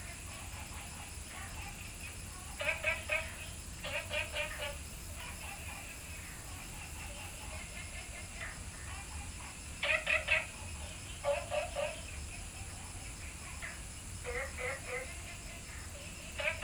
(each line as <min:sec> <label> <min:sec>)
0:00.0 Frog calls 0:16.6